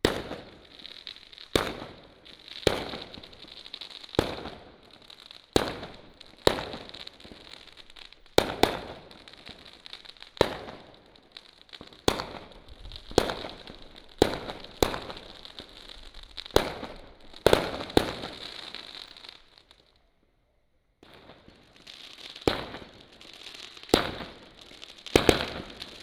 Fireworks 0:00.0 - 0:20.0
firecrackers 0:00.0 - 0:20.1
Fireworks 0:21.0 - 0:26.0
firecrackers 0:21.0 - 0:26.0

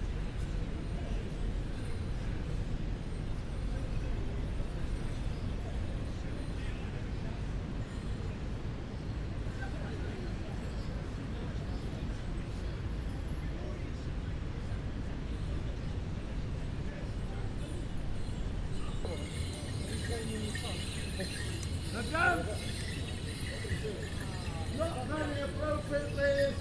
Morris Men dancing 0:18.2 - 0:26.6

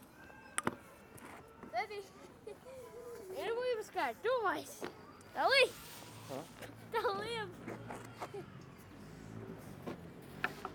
ping pong in the park 0:00.0 - 0:02.6
ping pong in the park 0:09.8 - 0:10.7

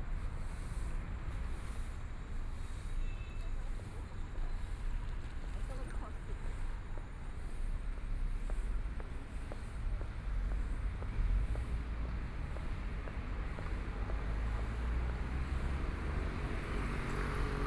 Traffic Sound 0:00.0 - 0:17.6

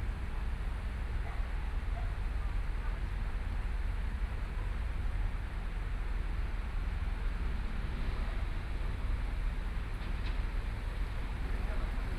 MRT trains through 0:07.2 - 0:12.1

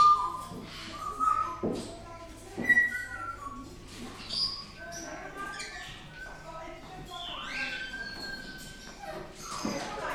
Birds -mainly parrots- singing, whistling and talking 0:00.0 - 0:10.1

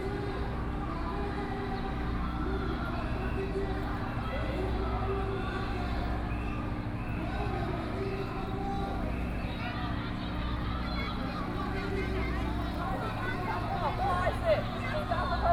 violent protests 0:02.8 - 0:15.5
Students and people flee 0:04.4 - 0:15.5

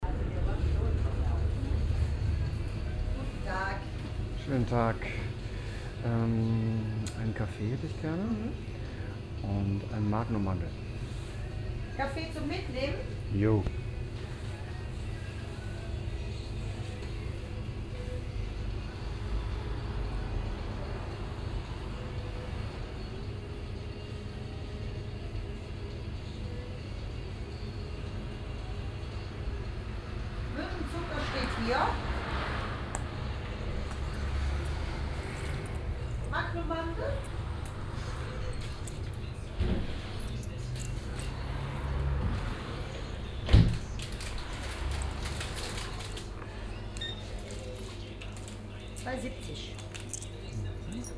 bestellung und service 0:28.0 - 0:51.1

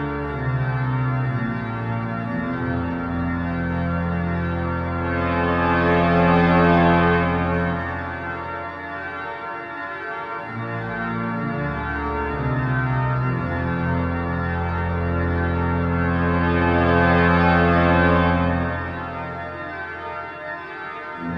organ 0:00.0 - 0:21.3

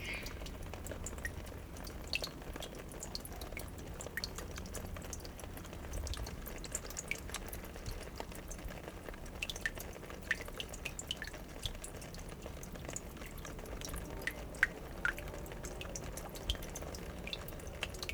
traffic sound 0:00.0 - 0:02.6
water droplets 0:00.0 - 0:08.0
water droplets 0:09.4 - 0:18.1
traffic sound 0:12.4 - 0:18.1

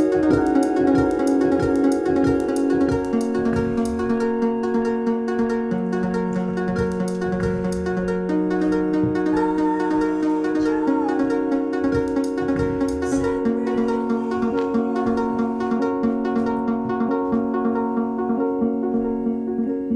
singer 0:09.3 - 0:12.1
singer 0:12.7 - 0:16.2

